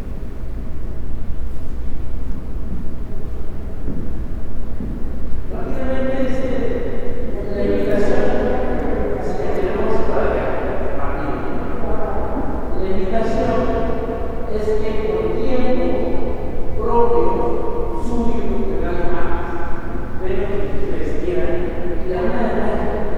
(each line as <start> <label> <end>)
0.0 People are heard walking past the current exhibit and commenting 23.1
5.5 one of the guides gives information to a group of visitors 23.1